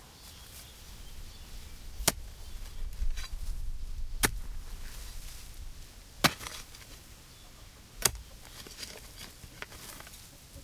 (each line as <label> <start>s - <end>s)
Digging a hole in earth with a pick 1.0s - 10.2s